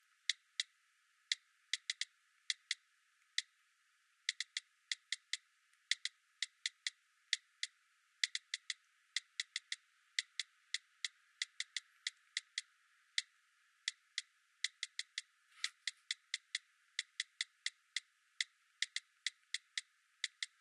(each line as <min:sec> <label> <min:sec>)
0:13.9 smartphone 0:17.6